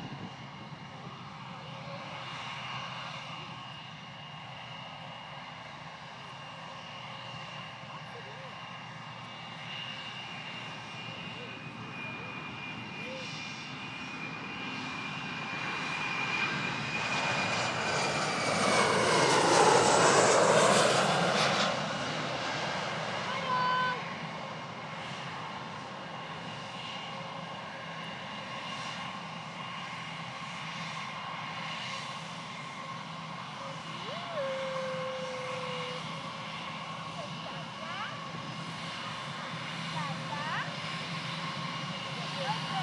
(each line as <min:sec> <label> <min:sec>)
0:00.0 airplane 0:42.8
0:33.5 family 0:38.4